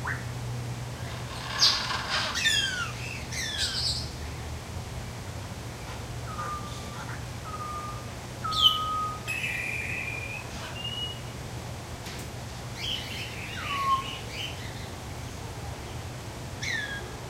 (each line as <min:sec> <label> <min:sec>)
0:01.0 other parrots in the background 0:04.2
0:01.0 sounds made by an African Gray Parrot 0:04.0
0:06.2 other parrots in the background 0:11.2
0:06.3 sounds made by an African Gray Parrot 0:11.3
0:12.8 sounds made by an African Gray Parrot 0:14.8
0:12.8 other parrots in the background 0:14.9
0:16.6 other parrots in the background 0:17.1
0:16.6 sounds made by an African Gray Parrot 0:17.1